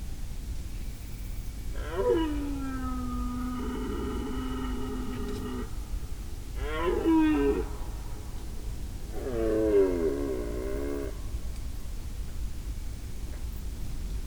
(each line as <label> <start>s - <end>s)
Elk rutting 1.7s - 11.6s